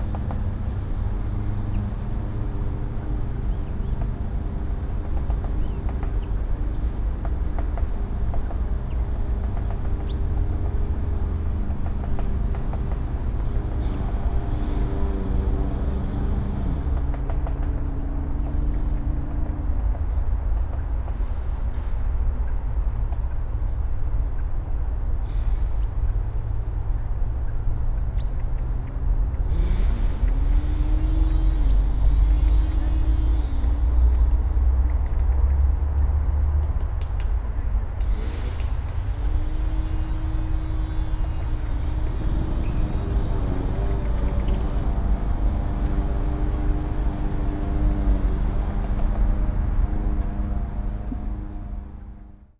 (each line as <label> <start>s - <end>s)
Man mowing 9.1s - 17.1s
Man mowing 29.5s - 34.0s
Man mowing 38.0s - 52.2s